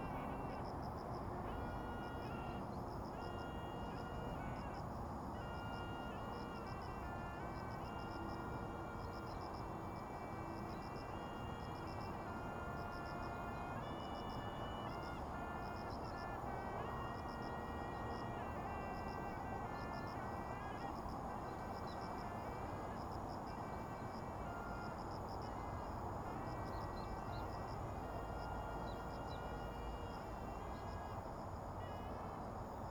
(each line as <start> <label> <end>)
0.0 traffic sound 32.9